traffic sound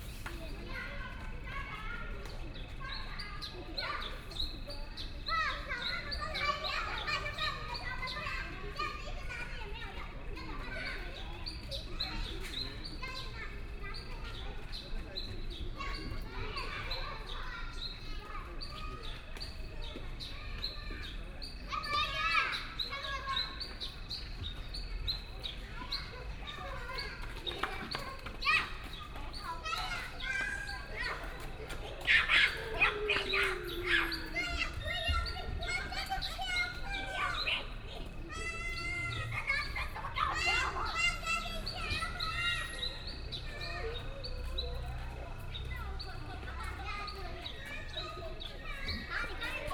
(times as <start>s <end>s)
24.5s 49.7s